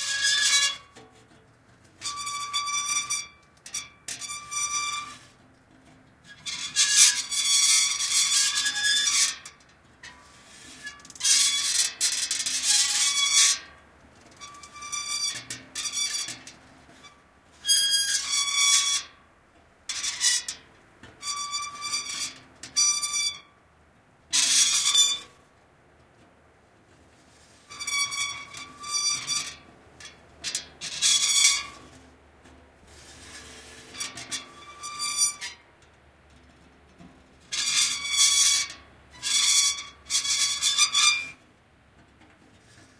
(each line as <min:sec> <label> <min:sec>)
0:00.0 Metal, rusty weathervane turning 0:05.5
0:06.3 Metal, rusty weathervane turning 0:19.2
0:27.3 Metal, rusty weathervane turning 0:32.0